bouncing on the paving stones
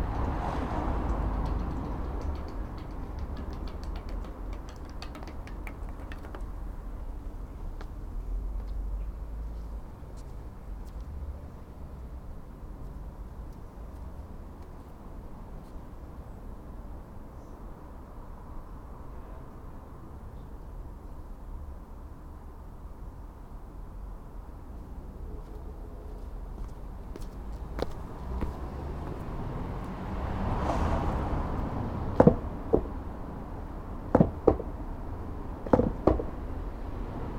0:00.2 0:07.0, 0:26.6 0:29.2, 0:32.1 0:33.0, 0:34.1 0:34.8, 0:35.6 0:36.4

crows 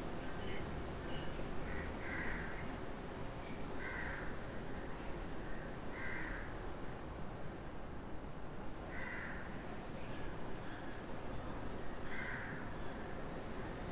0:03.8 0:04.3, 0:05.9 0:06.5, 0:08.9 0:09.5, 0:12.1 0:12.6

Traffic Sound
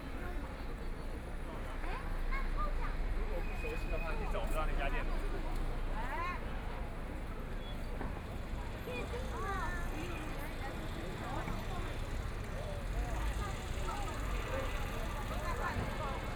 0:08.0 0:16.3

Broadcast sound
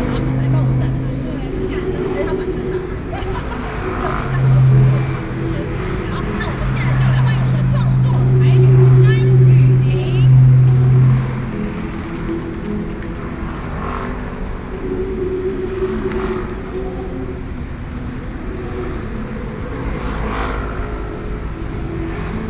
0:00.0 0:12.1

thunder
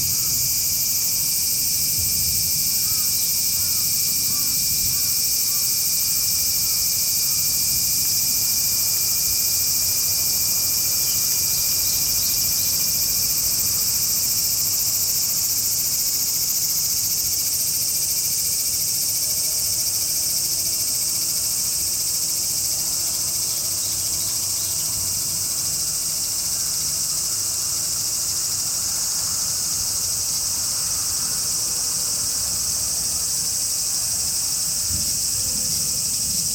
0:34.7 0:36.5

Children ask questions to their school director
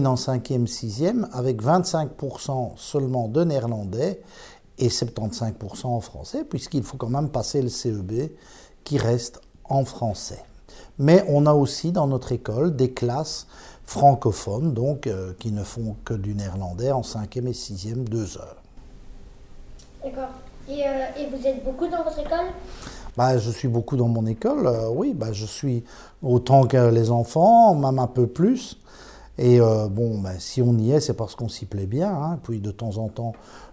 0:19.9 0:23.0

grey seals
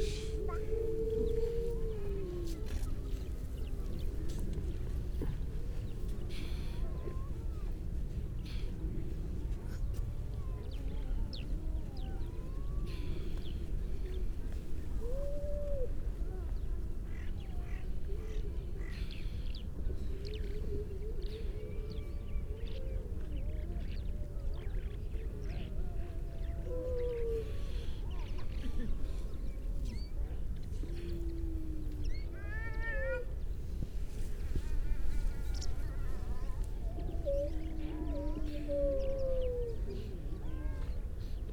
0:00.0 0:07.8, 0:20.0 0:41.5

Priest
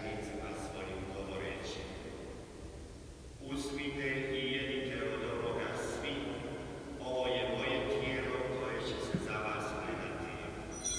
0:10.0 0:10.9

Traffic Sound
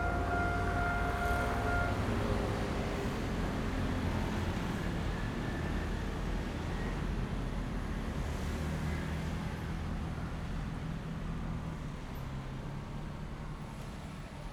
0:00.0 0:04.3

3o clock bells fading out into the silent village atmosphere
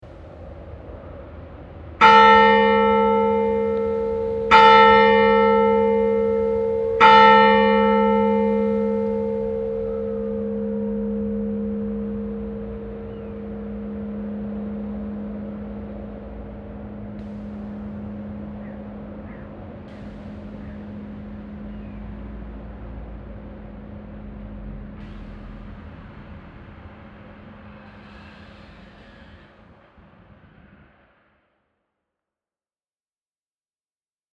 0:02.0 0:27.8

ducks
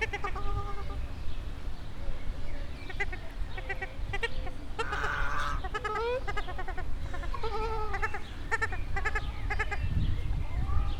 0:02.9 0:09.8

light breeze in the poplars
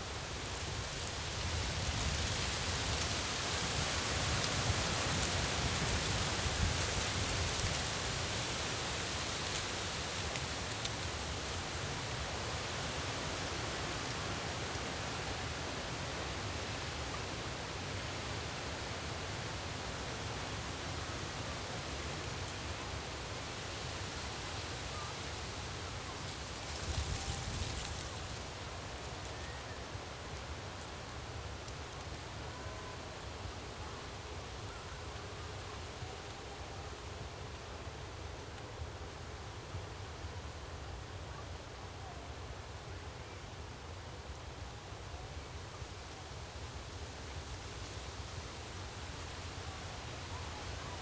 0:00.0 0:18.9, 0:19.6 0:41.4

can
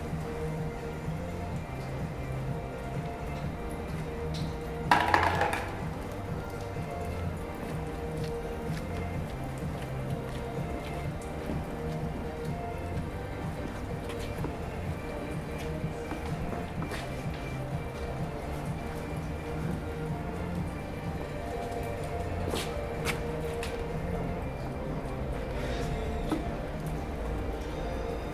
0:04.9 0:05.9

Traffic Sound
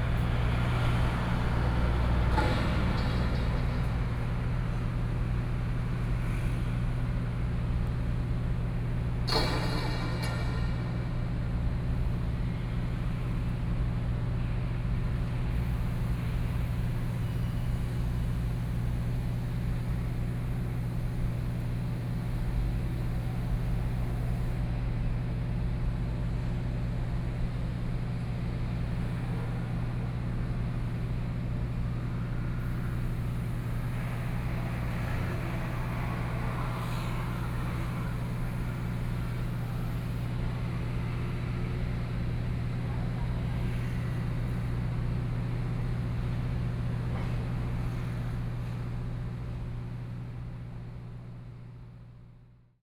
0:28.3 0:45.1

